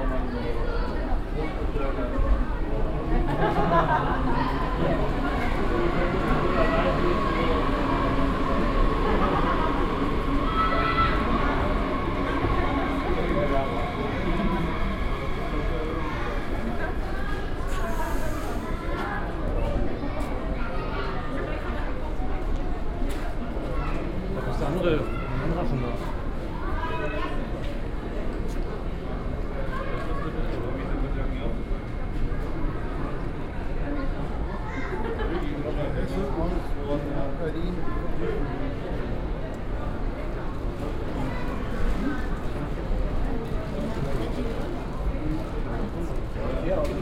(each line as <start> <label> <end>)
0.0 arrival of a train 47.0
0.0 school class and other travellers waiting 47.0